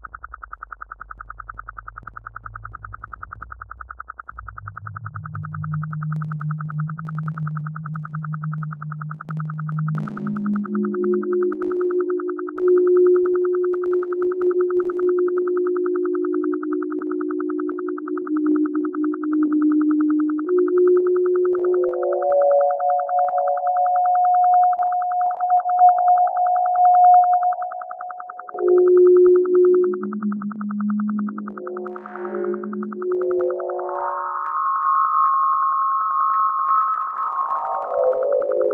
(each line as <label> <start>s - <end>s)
Synth Drone 0.0s - 38.7s